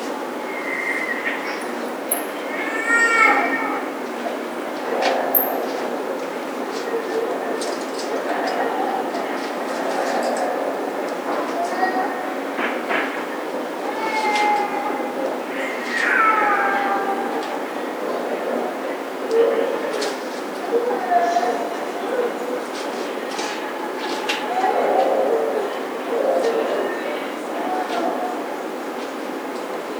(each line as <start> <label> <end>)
2.5 Babycrying 3.9